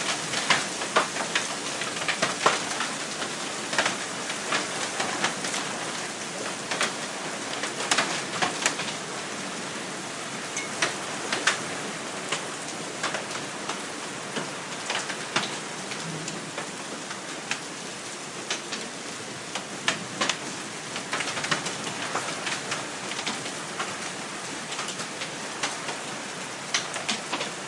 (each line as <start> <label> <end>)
0.0 hail 9.5
0.0 rain 27.6
0.0 wind 27.6